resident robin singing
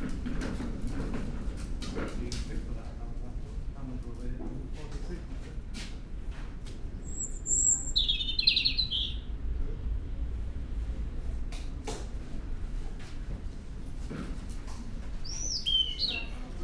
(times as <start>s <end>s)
7.0s 9.3s, 15.2s 16.6s